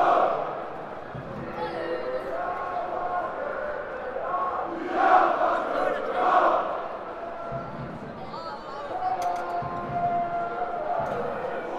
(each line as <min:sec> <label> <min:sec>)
0:01.6 loud roar comes from the home teams supporters 0:07.6
0:04.1 Supporters chanting 0:07.0